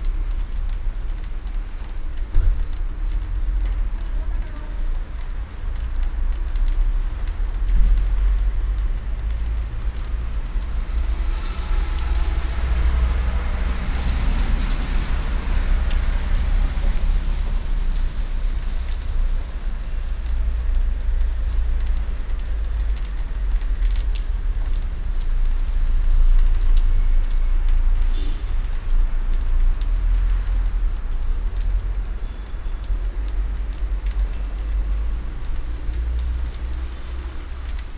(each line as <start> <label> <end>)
0.0 melting water drops from the house roof 37.9